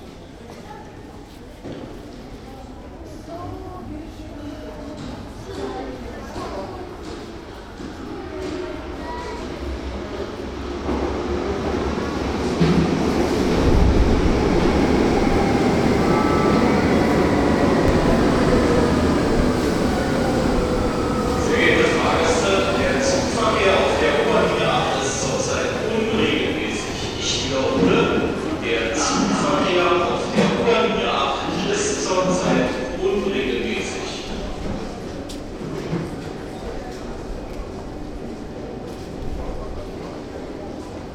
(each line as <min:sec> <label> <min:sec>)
0:00.0 train pulling into subway station 0:41.1
0:13.3 announcement 0:34.3